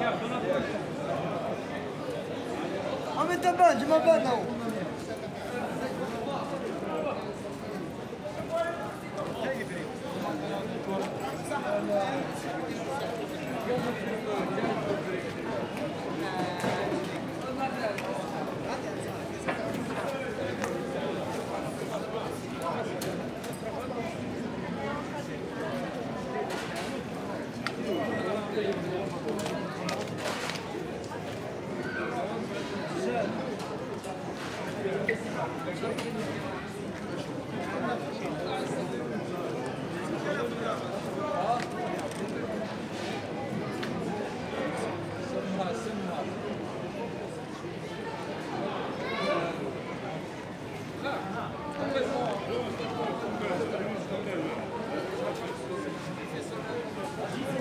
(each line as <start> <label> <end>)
0.0 Improvised street market 57.6